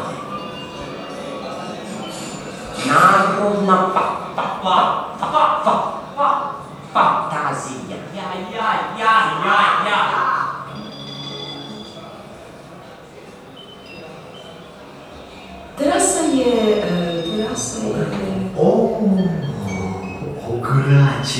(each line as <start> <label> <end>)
15.8 acoustic playing 21.3